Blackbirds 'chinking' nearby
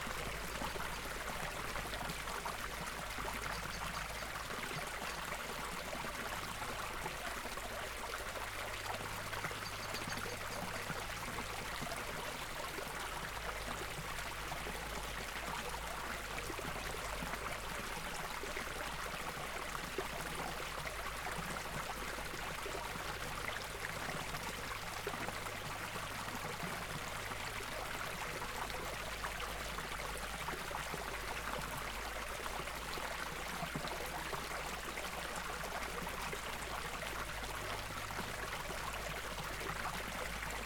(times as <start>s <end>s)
9.5s 10.9s